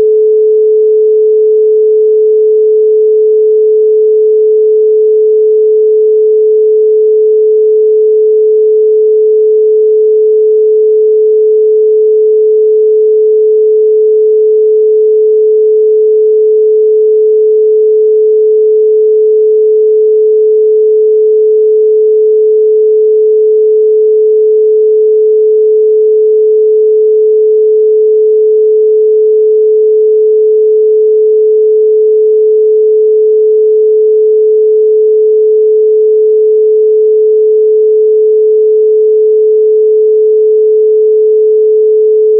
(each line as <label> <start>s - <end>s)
Pure Sine Wave 0.0s - 42.3s